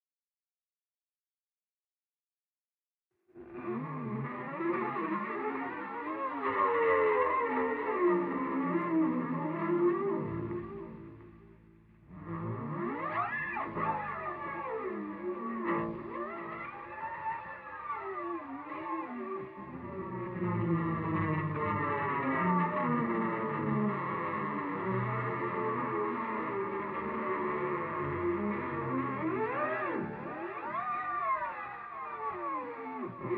guitar 0:03.4 - 0:33.3

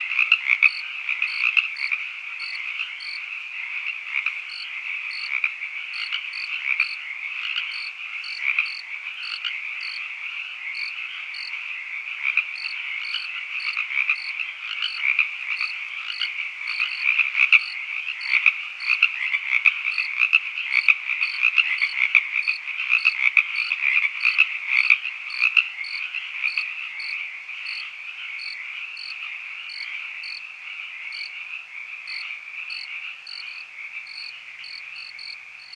frogs 0:00.0 - 0:35.7
crickets 0:00.1 - 0:35.7

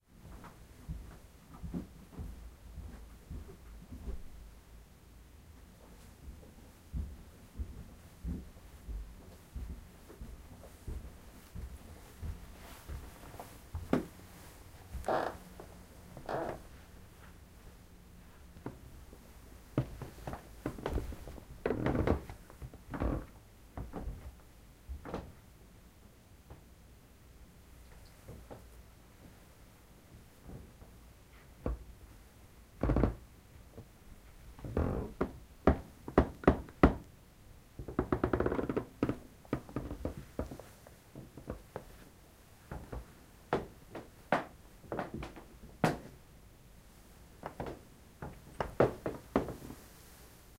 walking up the woodden stairs 0:00.1 - 0:04.7
walking up the woodden stairs 0:05.4 - 0:25.4
Creaking floor upstairs 0:05.7 - 0:17.4
Creaking floor upstairs 0:18.6 - 0:25.4
Creaking floor upstairs 0:32.8 - 0:33.9
walking up the woodden stairs 0:32.8 - 0:34.0
Creaking floor upstairs 0:34.6 - 0:37.1
walking up the woodden stairs 0:34.6 - 0:37.1
Creaking floor upstairs 0:37.8 - 0:42.0
walking up the woodden stairs 0:37.8 - 0:46.2
Creaking floor upstairs 0:42.6 - 0:46.2
Creaking floor upstairs 0:47.4 - 0:49.8
walking up the woodden stairs 0:47.4 - 0:49.8

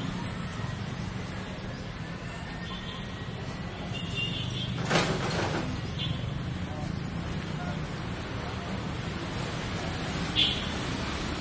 cars 0:00.0 - 0:11.4
street traffic horns 0:02.2 - 0:06.6
street traffic horns 0:10.2 - 0:11.1

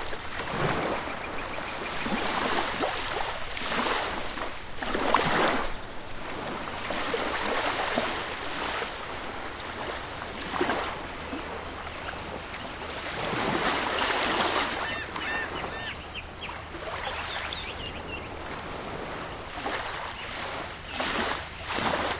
Ocean Waves 0:00.0 - 0:22.1
birds 0:00.7 - 0:02.8
birds 0:11.0 - 0:18.6
birds 0:19.8 - 0:22.0

